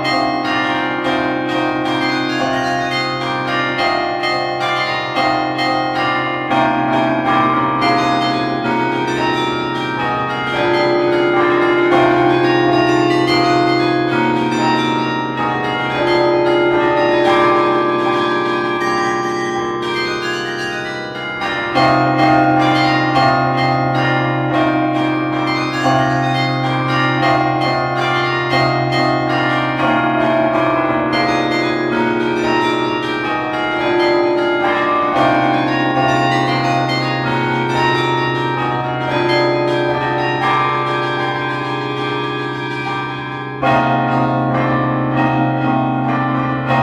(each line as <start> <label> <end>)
0.0 carillon 46.8